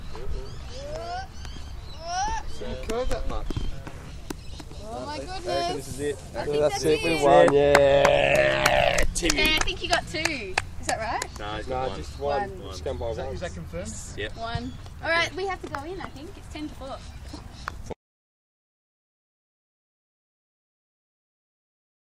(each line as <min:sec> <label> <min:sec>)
0:07.3 people complementing bowler on their bowl 0:09.6